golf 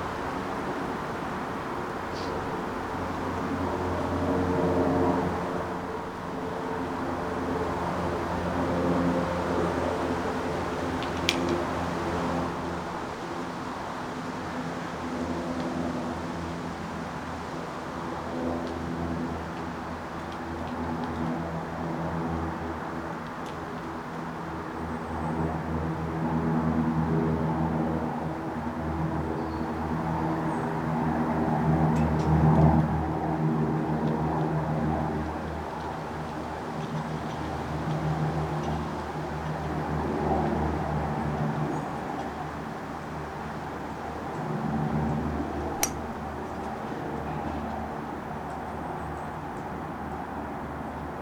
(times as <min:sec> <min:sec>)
0:45.8 0:46.2